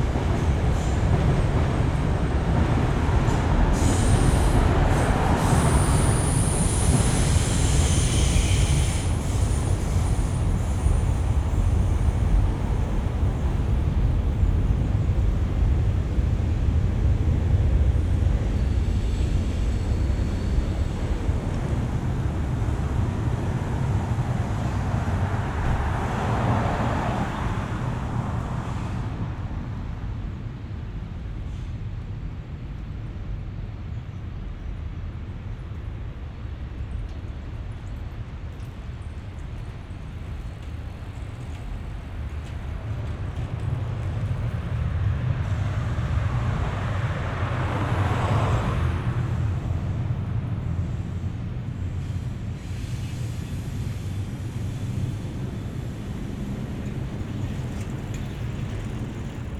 pedestrians 0.0 - 59.5
trains of all kind on different levels 0.0 - 59.5
bikes 37.7 - 45.6
cars 40.0 - 59.5
bikes 50.4 - 59.5

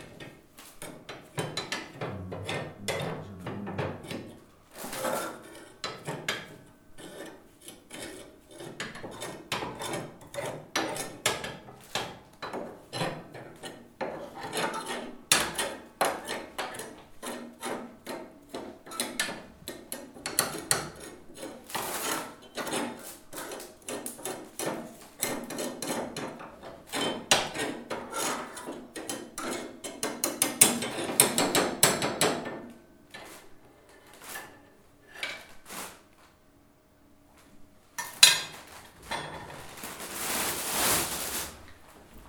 Fuoco 1.9 - 4.4
Feuer 2.0 - 4.2

